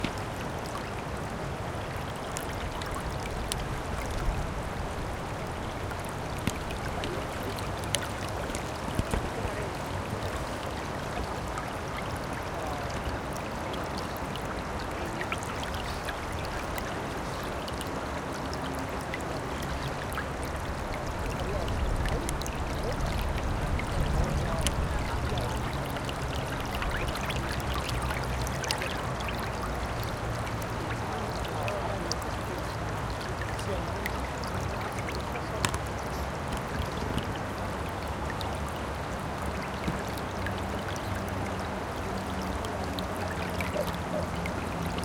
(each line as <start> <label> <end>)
0.0 Traffic 45.0
0.0 Water 45.0